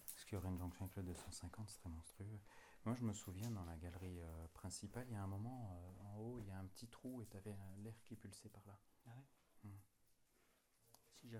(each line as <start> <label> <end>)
0.0 Small cements rocks are falling from everywhere 2.2
2.9 Small cements rocks are falling from everywhere 8.0